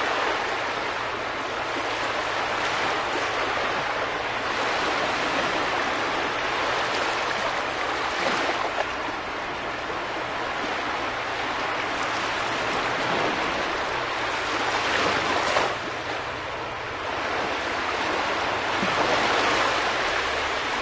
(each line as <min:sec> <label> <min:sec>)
0:00.0 small sea waves 0:20.8